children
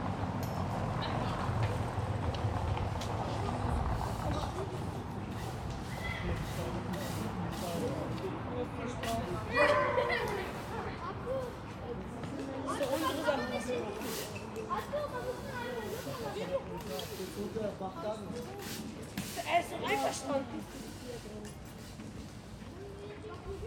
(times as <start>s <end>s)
9.4s 16.6s